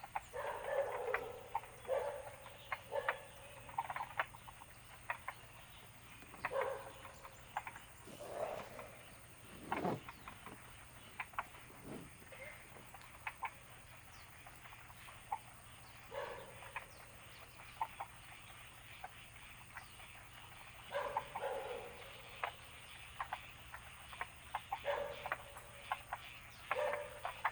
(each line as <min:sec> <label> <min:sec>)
0:00.0 Bird sounds 0:27.5
0:00.0 Frogs chirping 0:27.5
0:00.2 Dogs barking 0:04.2
0:06.0 Dogs barking 0:13.0
0:16.1 Dogs barking 0:16.9
0:20.8 Dogs barking 0:22.6
0:24.7 Dogs barking 0:26.0
0:26.6 Dogs barking 0:27.5